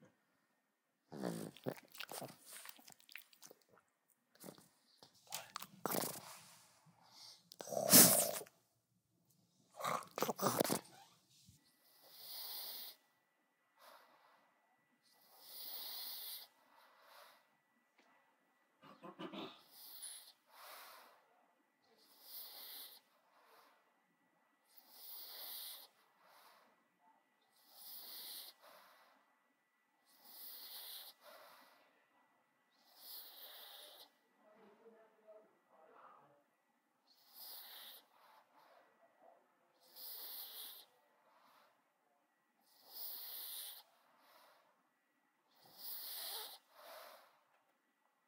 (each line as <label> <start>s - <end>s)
snorts 1.1s - 3.6s
snarls 1.1s - 3.0s
snorts 4.4s - 8.5s
snarls 7.6s - 8.5s
snorts 9.7s - 11.2s
snorts 11.8s - 13.0s
snorts 15.2s - 17.4s
snorts 18.8s - 21.2s
snorts 22.0s - 23.7s
snorts 24.7s - 26.7s
snorts 27.5s - 29.2s
snorts 30.1s - 31.8s
snorts 32.7s - 34.2s
snorts 37.1s - 38.9s
snorts 39.8s - 41.7s
snorts 42.6s - 44.6s
snorts 45.5s - 47.4s